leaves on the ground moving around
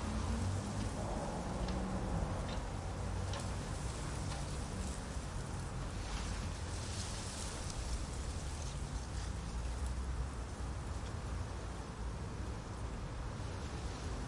3.2s 11.1s

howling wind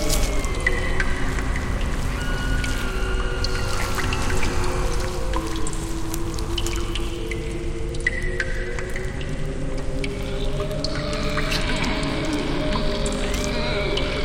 0.0s 7.9s

